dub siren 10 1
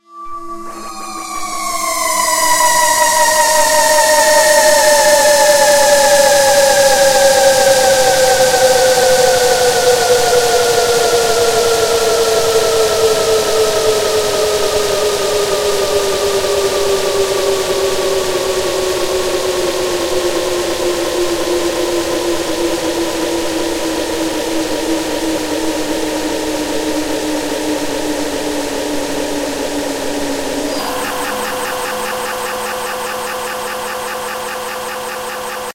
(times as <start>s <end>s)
30.7s 35.7s